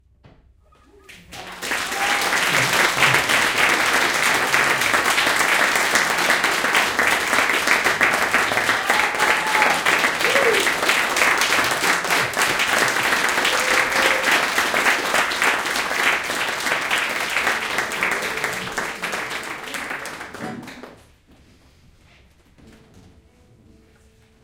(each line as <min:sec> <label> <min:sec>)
0:01.0 Applause 0:21.2